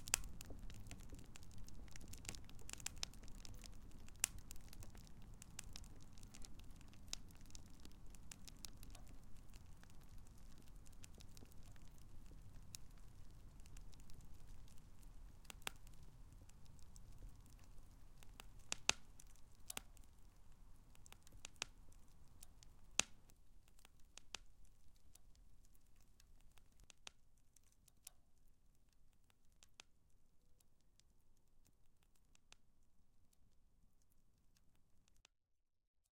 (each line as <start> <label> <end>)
0.0 very vivid, and rather large fire 25.4